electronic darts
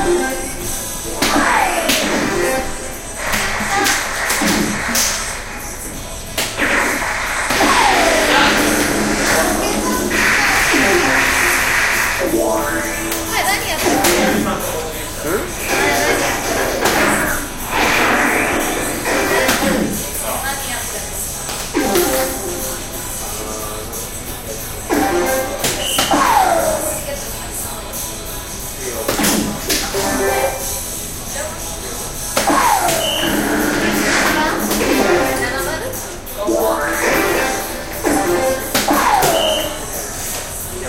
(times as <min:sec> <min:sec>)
0:00.0 0:14.7, 0:15.6 0:20.1, 0:21.8 0:22.8, 0:24.9 0:27.0, 0:32.3 0:35.7, 0:36.4 0:40.4